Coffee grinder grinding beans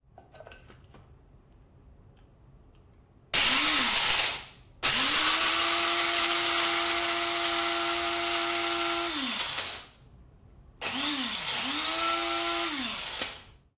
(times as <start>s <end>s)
3.4s 9.8s